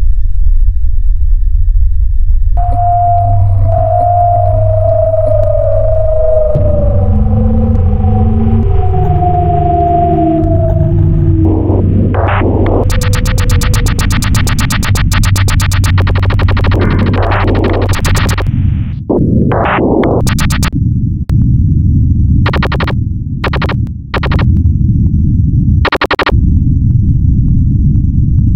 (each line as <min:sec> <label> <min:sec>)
0:10.5 projectiles 0:18.5
0:12.8 machine gun 0:18.5
0:19.4 projectiles 0:20.7
0:22.5 projectiles 0:24.6